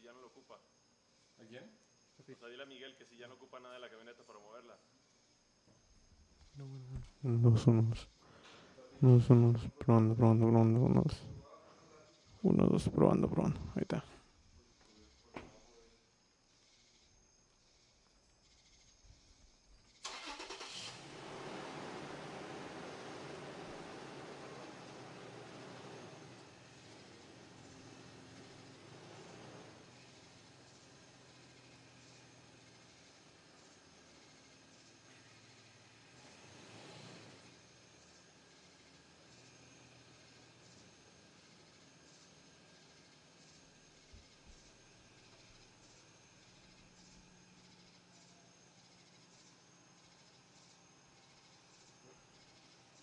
crickets 0.0 - 53.0
my voice 6.6 - 8.1
my voice 9.0 - 11.4
my voice 12.4 - 14.1
cars 20.1 - 51.2

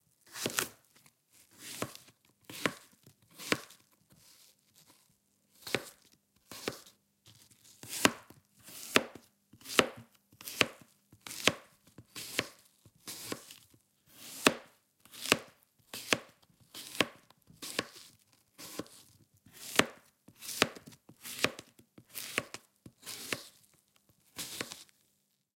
Slicing an Apple on a cutting Board 0.3 - 0.8
Slicing an Apple on a cutting Board 1.5 - 4.9
Slicing an Apple on a cutting Board 5.5 - 24.9

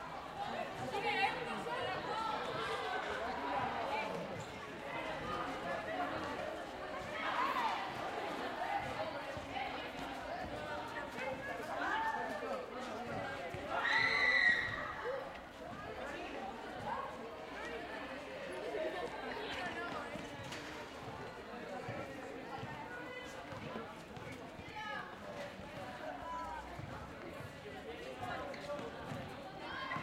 children playing 0.0 - 30.0

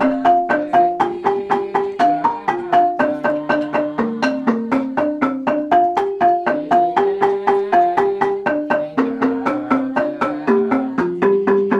angklung 0.0 - 11.7
xylophone 0.0 - 11.7

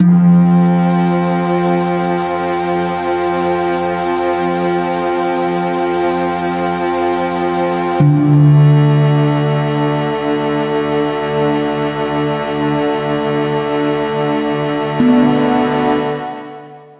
reverbed harp 15.0 - 16.8

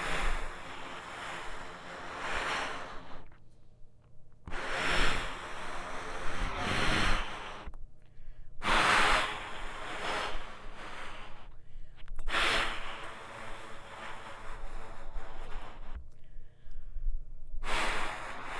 Air blowing through trumpet 4.4 - 18.5

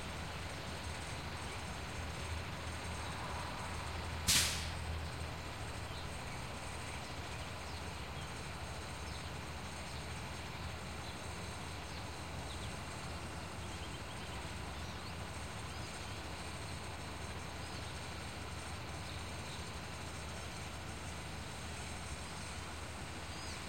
School bus comes in 0.0 - 23.6
background small town neighborhood traffic noise 0.0 - 23.6
pickup truck 0.0 - 23.6
wind 0.0 - 23.6
birds 5.0 - 23.6

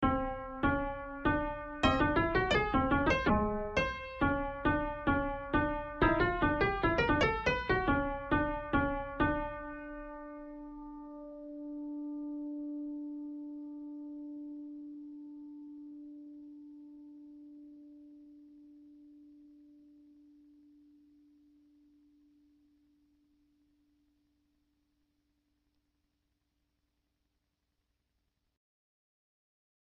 piano 0.0 - 22.9

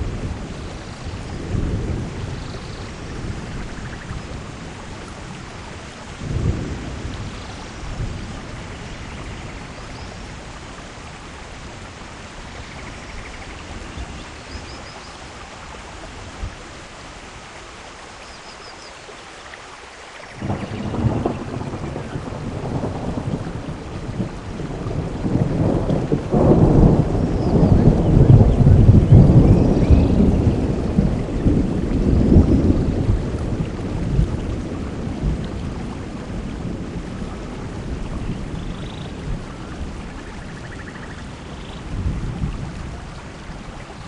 thunder 6.2 - 9.6
thunder 20.4 - 43.1

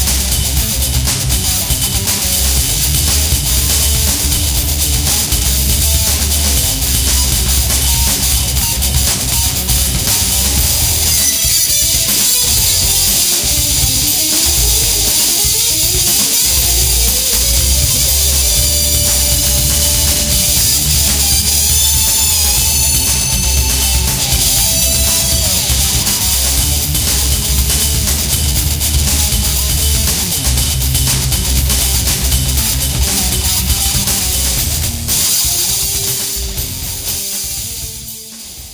Keyboards 0.0 - 38.0
Beats 0.0 - 38.7
guitar 0.0 - 38.7

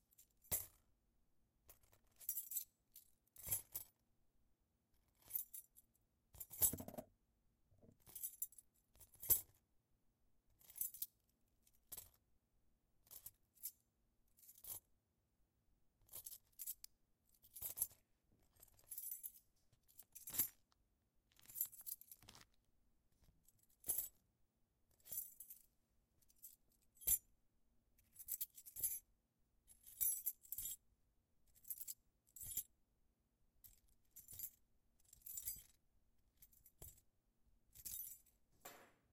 Bunch of Keys on a Keychain 16.1 - 22.6
Bunch of Keys on a Keychain 33.6 - 35.8
Bunch of Keys on a Keychain 37.7 - 38.3

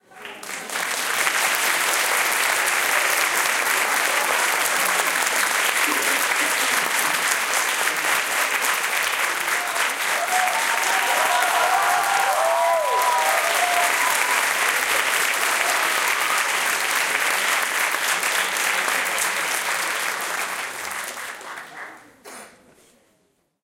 aplause 0.0 - 22.2

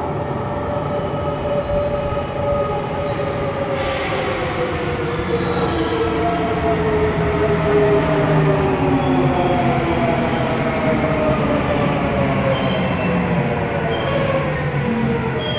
Train arriving 0.0 - 15.5

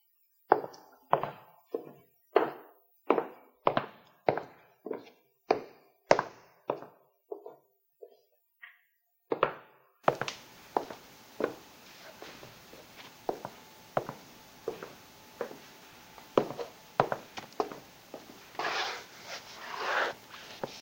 boots walking over Stave 10.1 - 20.8

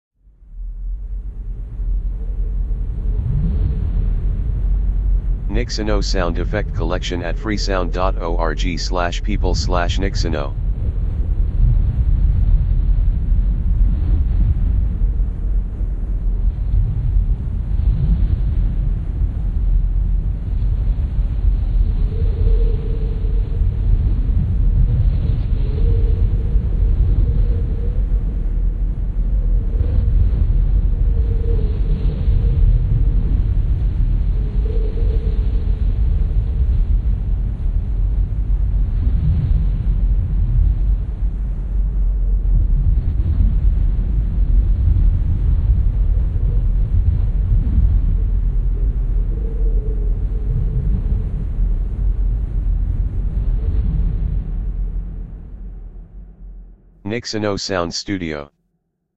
wind 0.3 - 56.3
white noise 5.3 - 10.6
white noise 57.1 - 58.4

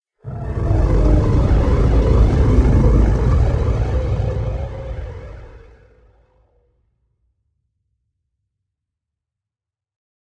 Space monster Roar 0.2 - 6.2

